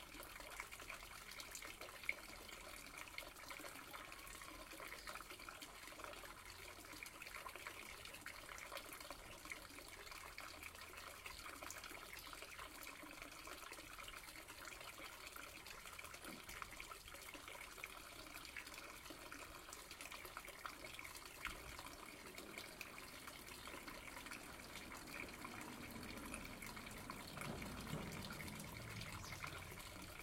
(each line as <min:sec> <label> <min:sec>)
0:00.0 village fountain 0:30.2
0:24.9 A car drives by 0:30.1